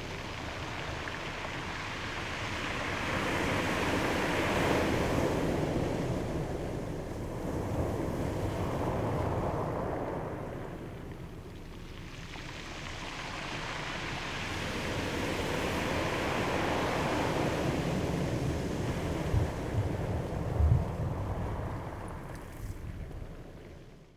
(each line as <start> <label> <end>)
0.0 tide comes in 24.1